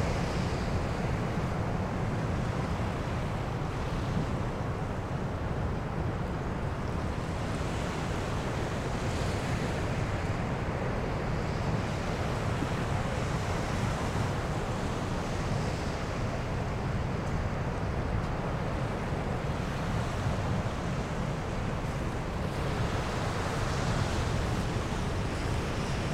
0.0s heavy rumble from the sea & wind 26.1s
0.0s soft waves 26.1s

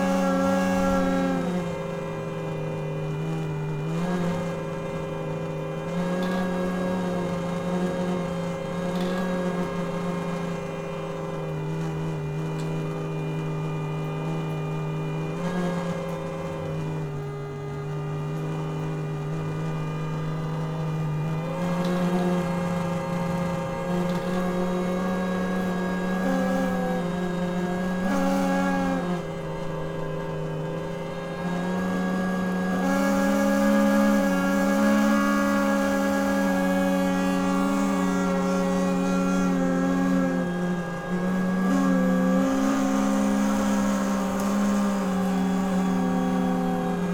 32.6s wind instrument 47.1s

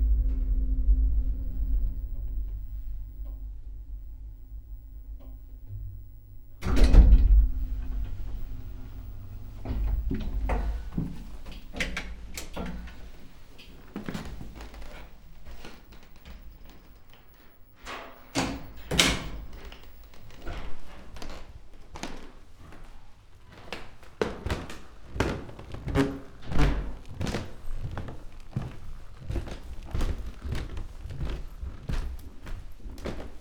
9.5s wooden staircase 17.4s
18.9s wooden staircase 33.4s
19.6s walking 33.4s

